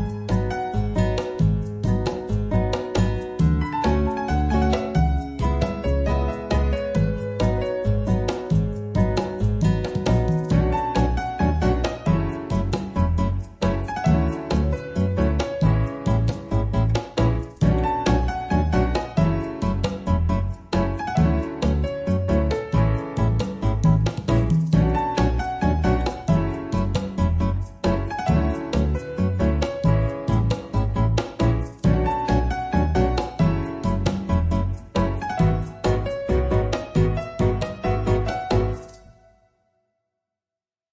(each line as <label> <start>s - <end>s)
congo 0.0s - 39.1s
bass 0.0s - 39.2s
guitar 0.0s - 39.3s
piano 0.0s - 39.8s
shaker 0.0s - 39.2s